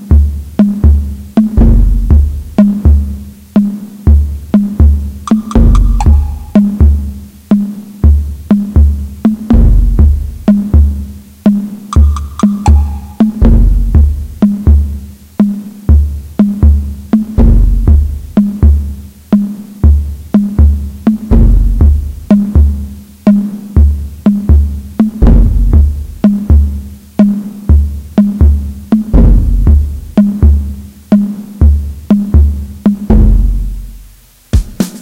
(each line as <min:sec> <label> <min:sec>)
0:00.0 Tom Drums 0:35.0
0:04.8 Taiko Drum 0:07.1
0:12.0 Taiko Drum 0:14.8